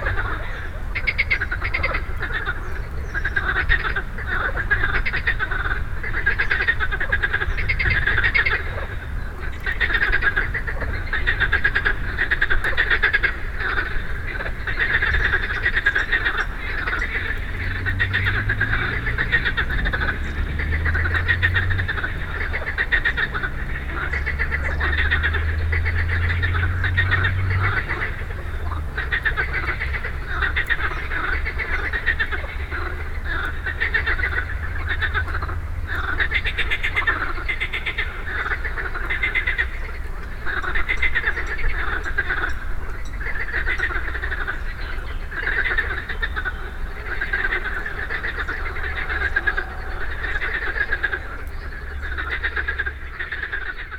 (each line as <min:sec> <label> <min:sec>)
0:00.0 Frogs 0:53.9